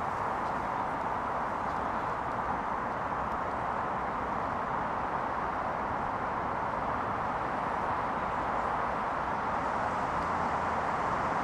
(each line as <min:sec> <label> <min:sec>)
0:00.0 passing cars 0:11.4